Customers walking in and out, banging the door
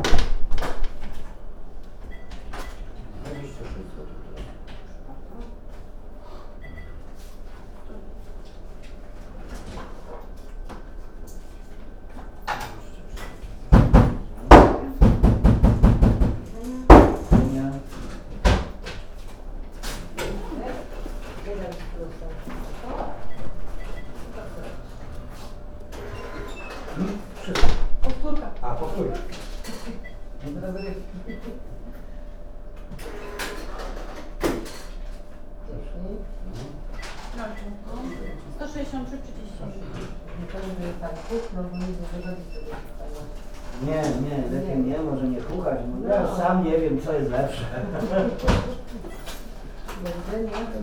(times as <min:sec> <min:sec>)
0:00.0 0:30.4, 0:47.0 0:50.8